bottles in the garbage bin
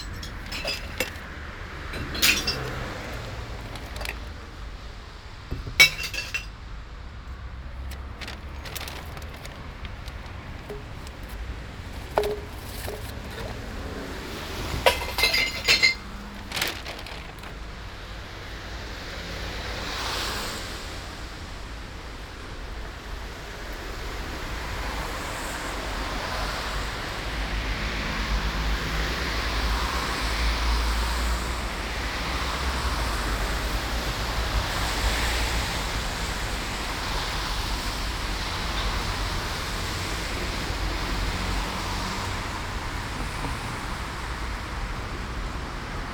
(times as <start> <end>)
0.0 4.5, 5.5 6.5, 7.8 17.7